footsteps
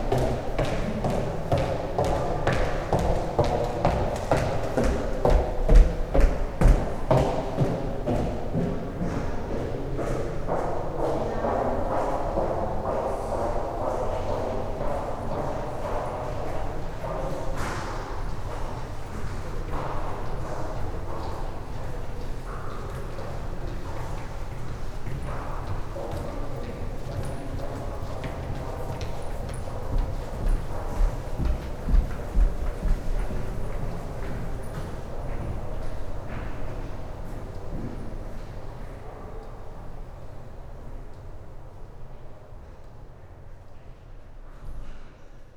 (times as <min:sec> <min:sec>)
0:00.0 0:18.1, 0:27.0 0:36.7